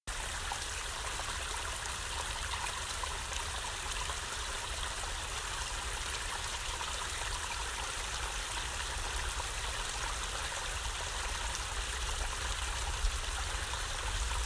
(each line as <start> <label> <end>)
0.1 Water Flowing in Small Rocky Stream 14.4